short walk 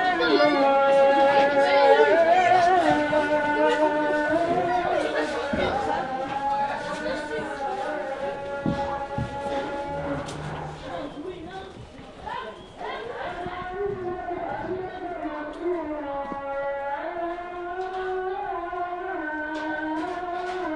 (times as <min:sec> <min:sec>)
0:05.4 0:12.2